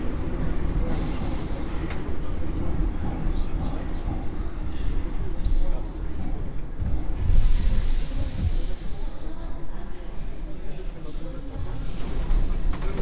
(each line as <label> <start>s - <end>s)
Metro ride 0.0s - 13.0s